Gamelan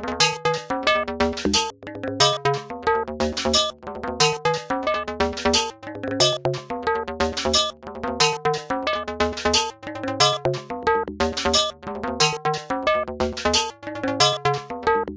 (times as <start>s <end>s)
1.6s 2.7s